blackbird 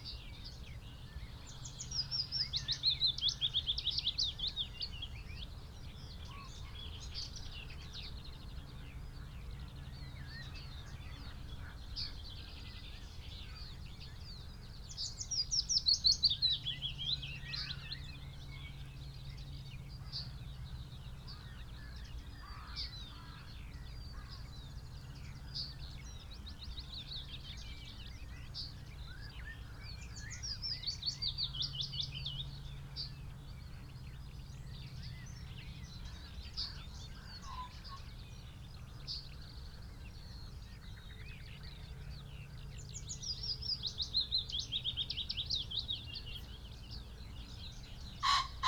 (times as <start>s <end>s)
33.9s 48.6s